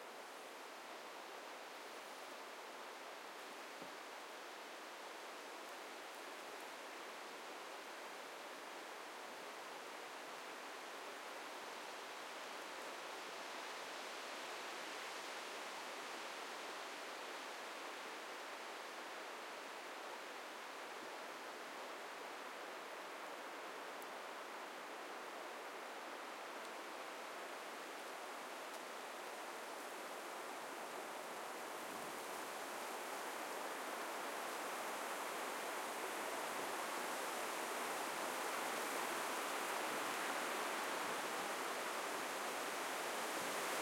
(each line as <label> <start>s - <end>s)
wind grabbs the trees 16.4s - 43.8s